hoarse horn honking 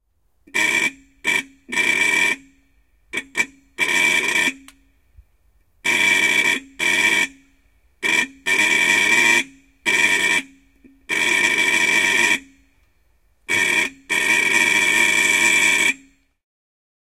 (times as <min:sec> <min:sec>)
0:00.5 0:02.5